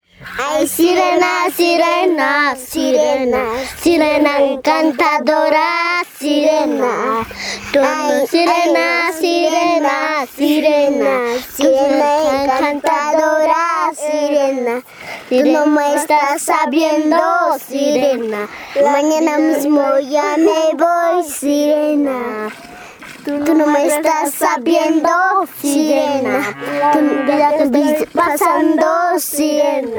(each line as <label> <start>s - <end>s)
Girls singing together in unison a huayno 0.0s - 29.9s
cow 26.2s - 27.7s